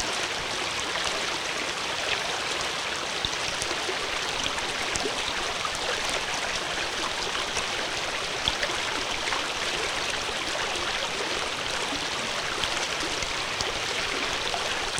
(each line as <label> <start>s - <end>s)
shallow section of a small stream 0.0s - 14.9s